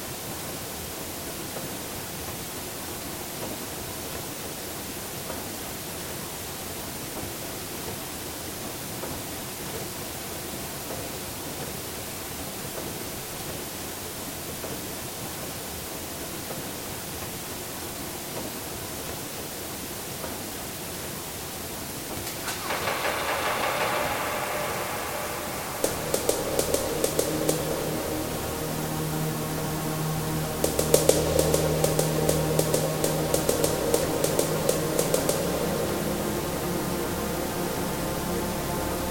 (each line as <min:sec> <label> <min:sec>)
0:17.9 water dam 0:39.1
0:22.3 drum beat snare 0:36.3
0:22.3 tune 0:39.1
0:24.6 shooting 0:36.2